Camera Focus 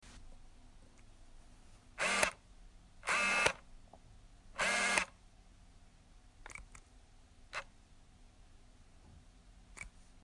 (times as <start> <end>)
2.0 2.4, 3.1 3.6